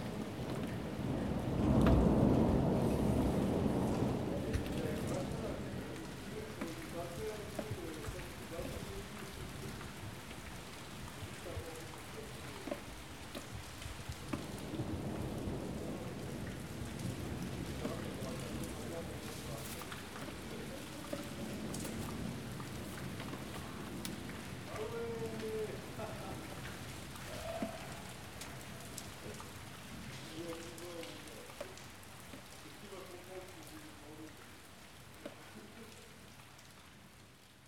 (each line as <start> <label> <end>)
0.0 thunderstorm 30.5
0.0 Rain 37.6